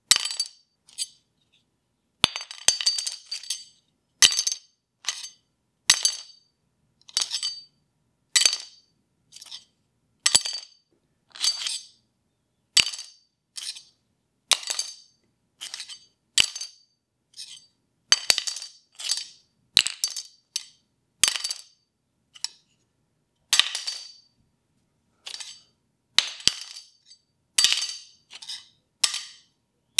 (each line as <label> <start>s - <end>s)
Small knife/metal object falling and scraping against concrete 0.1s - 1.1s
Small knife/metal object falling and scraping against concrete 2.2s - 6.3s
Small knife/metal object falling and scraping against concrete 7.1s - 7.7s
Small knife/metal object falling and scraping against concrete 8.4s - 8.8s
Small knife/metal object falling and scraping against concrete 10.3s - 10.6s
Small knife/metal object falling and scraping against concrete 11.4s - 11.9s
Small knife/metal object falling and scraping against concrete 12.8s - 13.9s
Small knife/metal object falling and scraping against concrete 15.6s - 16.7s
Small knife/metal object falling and scraping against concrete 17.4s - 21.7s
Small knife/metal object falling and scraping against concrete 22.4s - 22.7s
Small knife/metal object falling and scraping against concrete 23.6s - 24.3s
Small knife/metal object falling and scraping against concrete 25.3s - 29.5s